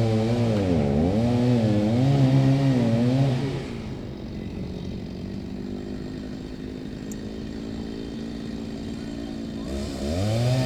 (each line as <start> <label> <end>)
0.0 wood cutting with a chainsaw 4.4
5.0 wood cutting with a chainsaw 10.6